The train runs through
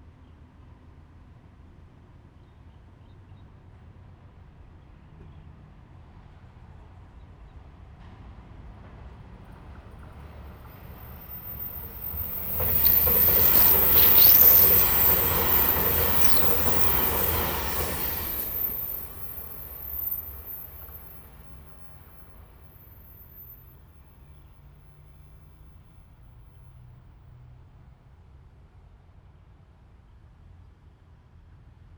8.8s 26.7s

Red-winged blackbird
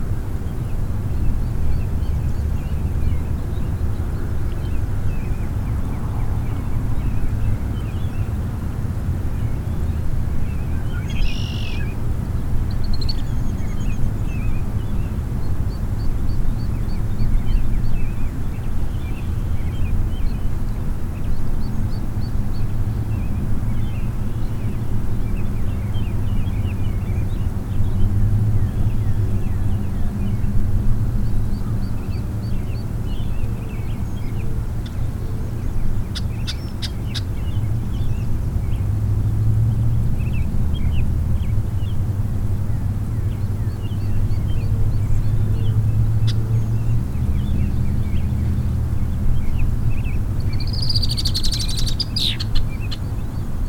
9.4s 38.9s, 43.2s 53.6s

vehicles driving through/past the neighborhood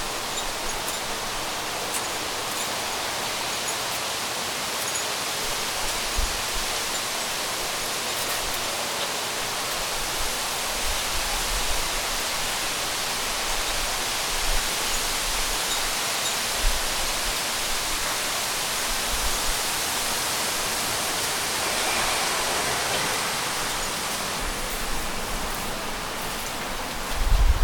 18.2s 27.1s

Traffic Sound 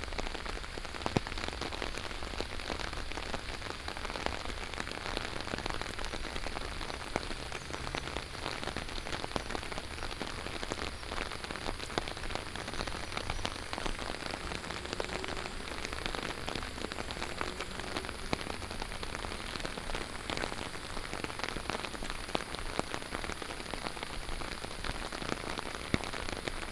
3.9s 22.7s

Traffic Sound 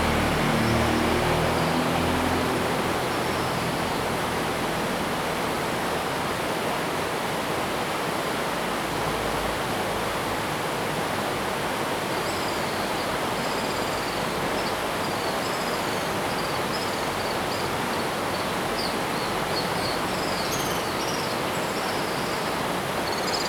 0.0s 5.7s

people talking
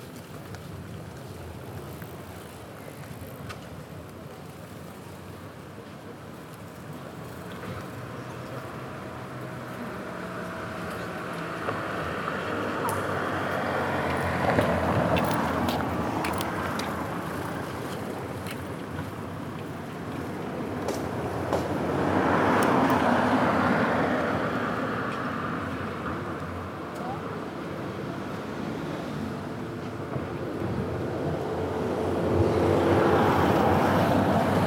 26.9s 27.6s

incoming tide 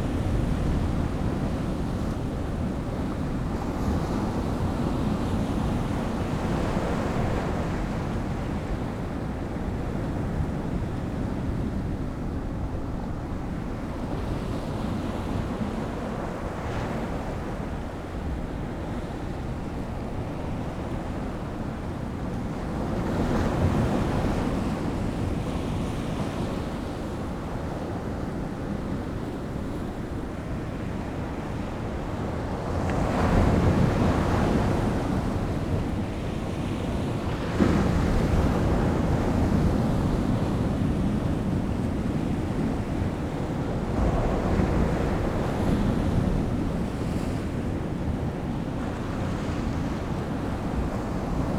42.6s 49.1s

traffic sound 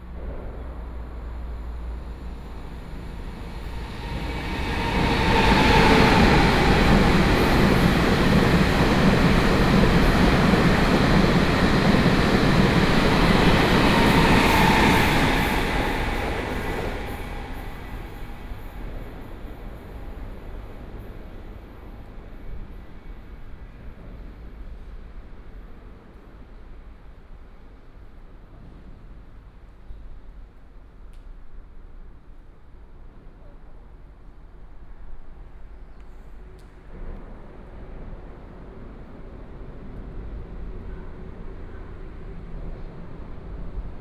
0.0s 19.3s

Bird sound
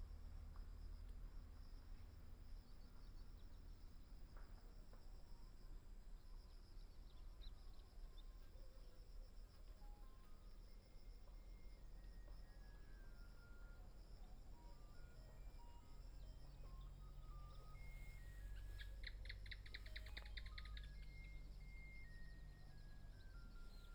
17.6s 21.9s

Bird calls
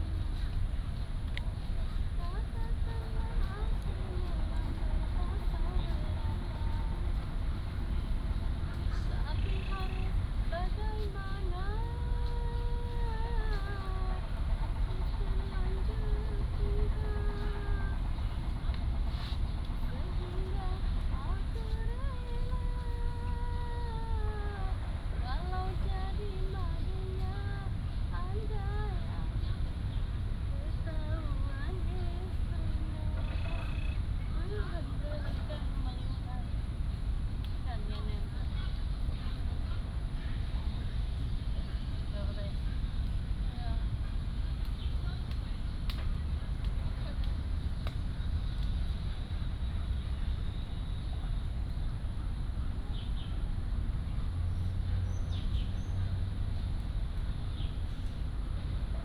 33.1s 34.0s

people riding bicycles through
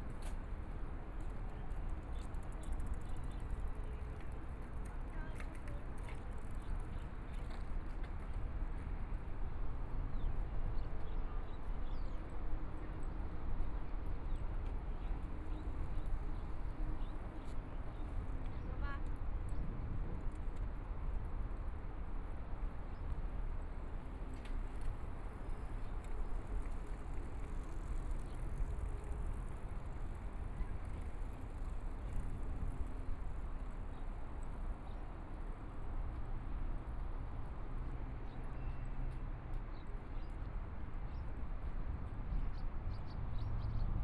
23.8s 36.2s

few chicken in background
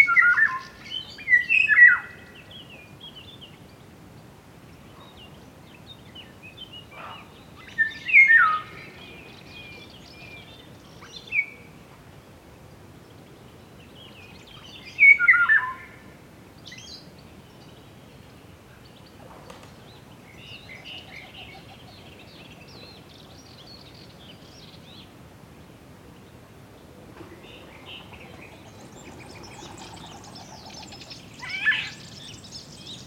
7.0s 7.6s, 18.8s 22.9s, 27.0s 33.0s

